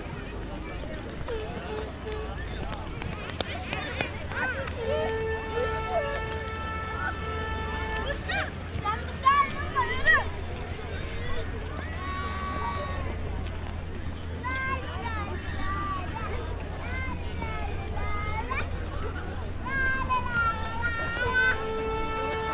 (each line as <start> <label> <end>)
0.0 loads of people gather at one of the barbeque areas 22.5